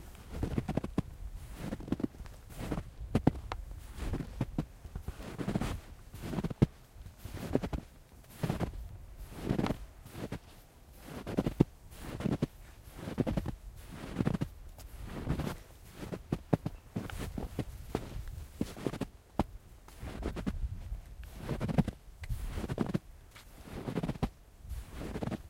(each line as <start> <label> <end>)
0.0 Walking-in-snow-with-boots 25.4